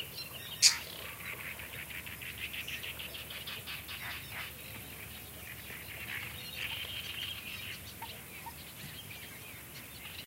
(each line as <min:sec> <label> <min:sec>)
0:00.4 single bird cry 0:01.0